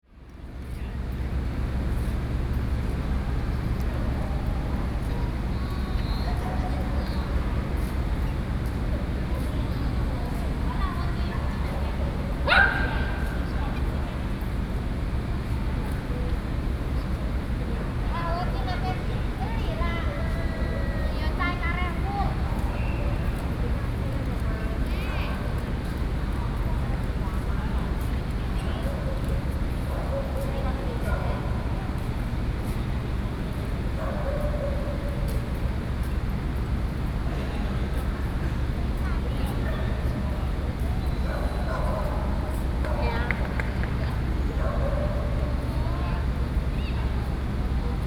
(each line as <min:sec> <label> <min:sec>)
0:12.5 Dogs barking 0:13.3
0:44.6 Dogs barking 0:45.6